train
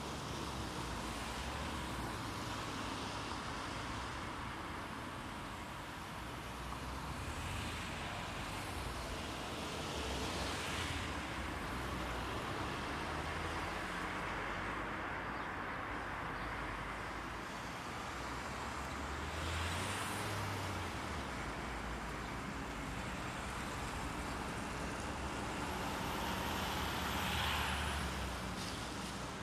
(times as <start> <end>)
21.9 29.4